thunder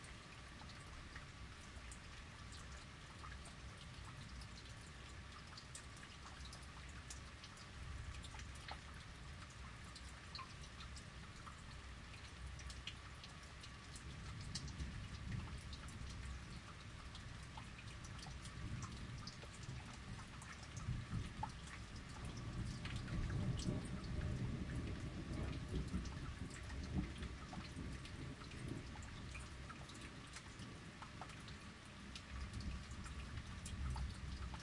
0:22.5 0:29.0

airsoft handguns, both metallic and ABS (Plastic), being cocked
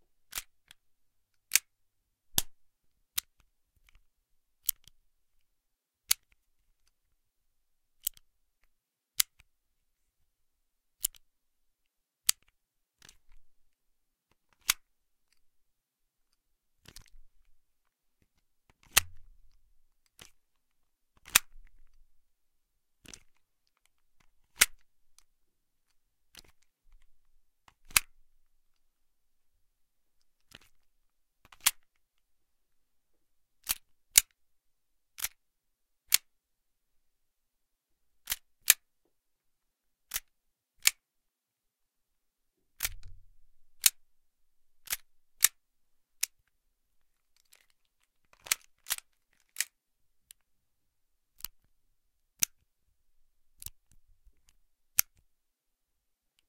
0:33.6 0:34.4, 0:35.2 0:35.4, 0:38.2 0:38.8, 0:44.8 0:45.6, 0:48.4 0:49.8

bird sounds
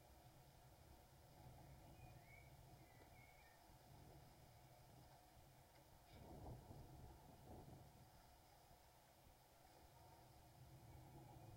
0:01.5 0:03.8

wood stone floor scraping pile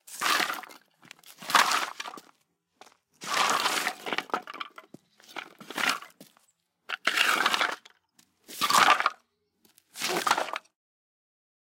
0:00.0 0:02.4, 0:03.2 0:09.2, 0:09.9 0:10.7

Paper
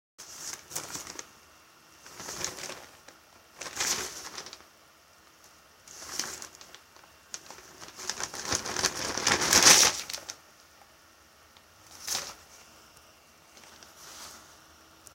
0:00.2 0:01.3, 0:02.0 0:04.6, 0:05.9 0:10.4, 0:11.8 0:12.6

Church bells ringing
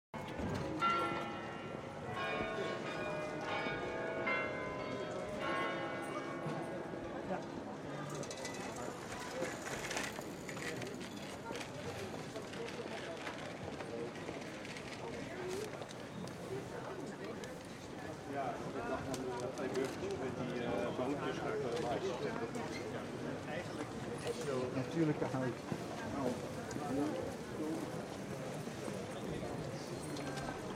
0:00.3 0:07.3

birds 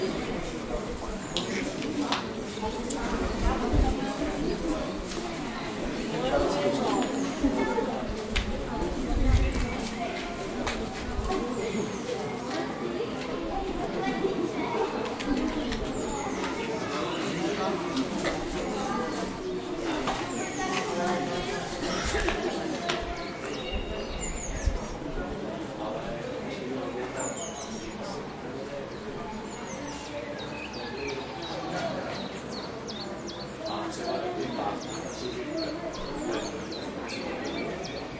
0:15.2 0:25.1, 0:27.0 0:38.1

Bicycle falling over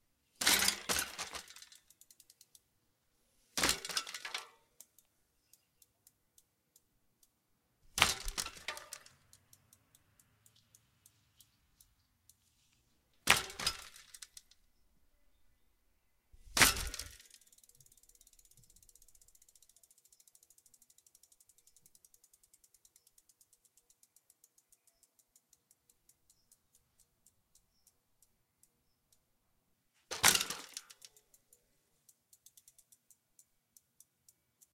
0:00.4 0:01.8, 0:03.6 0:04.6, 0:08.0 0:09.2, 0:13.2 0:14.4, 0:16.5 0:17.4, 0:30.1 0:31.1

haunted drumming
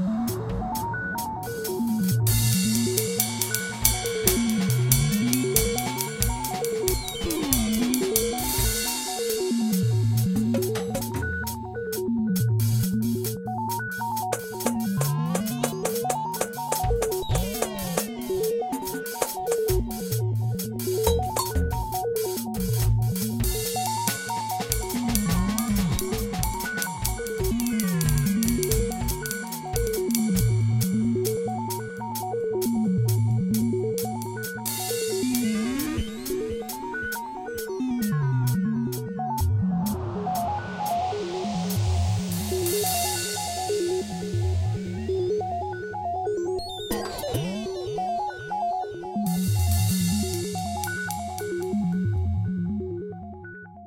0:00.0 0:13.3, 0:14.1 0:37.4

